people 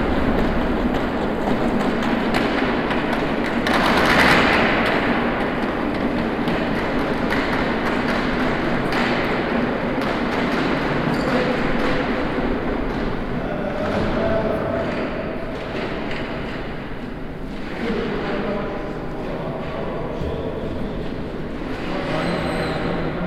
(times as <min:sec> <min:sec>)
0:08.3 0:16.6, 0:17.5 0:23.2